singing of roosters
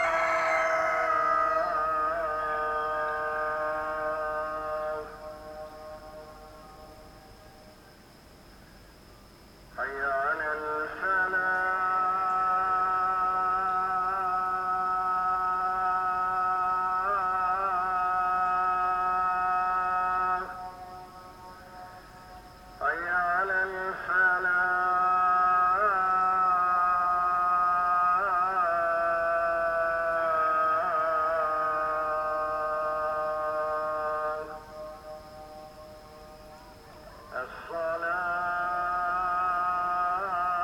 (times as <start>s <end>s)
0.0s 6.5s, 22.3s 40.6s